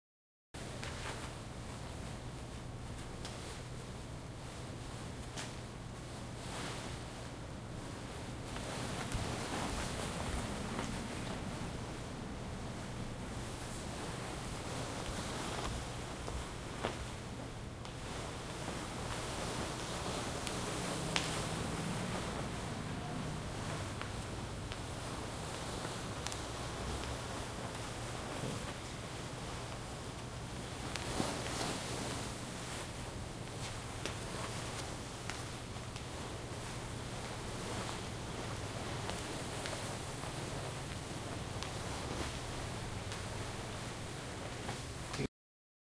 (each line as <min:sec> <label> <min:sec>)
0:00.6 Walking in flats 0:45.3
0:00.6 satin dress 0:45.3